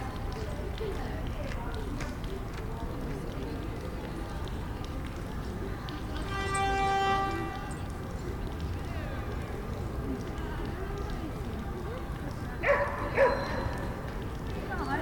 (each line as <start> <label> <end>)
12.6 dogs 14.0